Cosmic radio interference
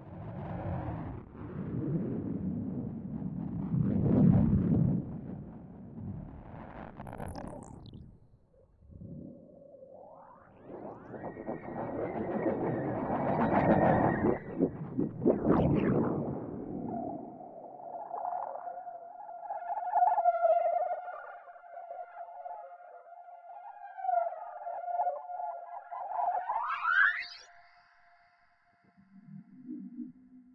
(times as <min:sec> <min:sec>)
0:06.2 0:08.2